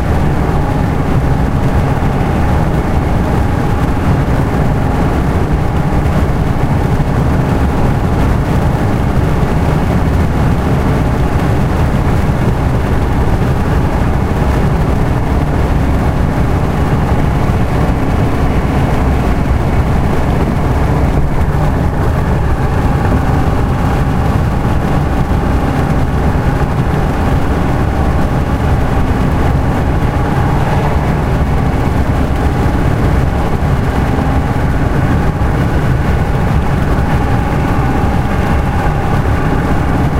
Car Strong Wind Noise 0:00.0 - 0:40.1

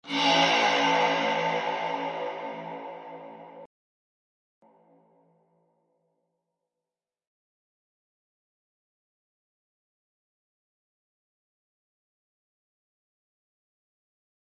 synth 0:00.0 - 0:03.7

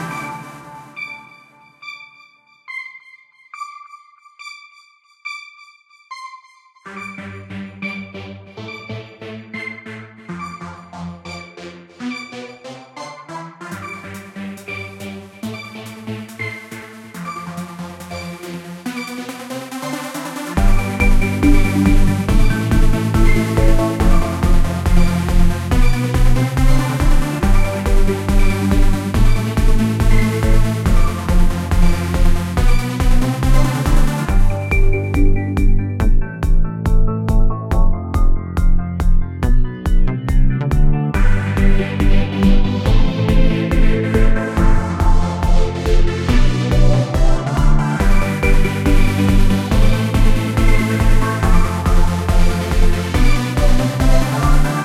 melody 0:20.6 - 0:32.3

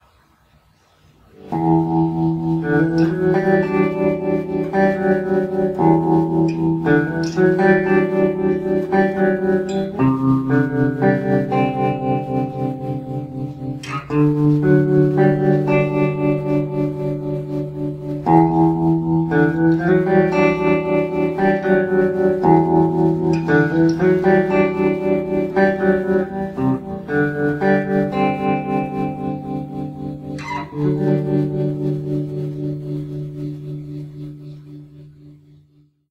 Slow tremolo guitar sound 0:00.5 - 0:36.0

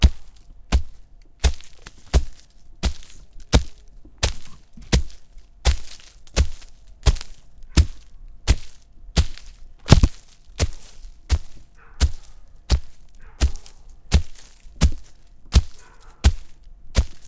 rustling leaves 0:00.0 - 0:17.2
stomps 0:00.0 - 0:17.2
Breaking snapping twigs 0:09.4 - 0:10.5

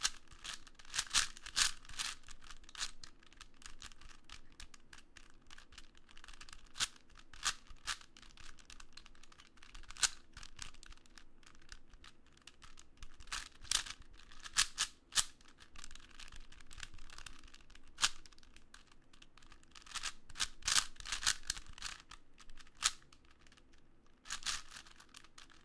quick solve of a 4x4x4 Cube 0:00.0 - 0:25.6

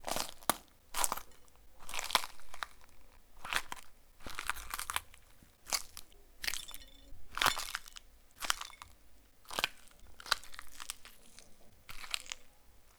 Pepper crunching 0:05.8 - 0:12.5

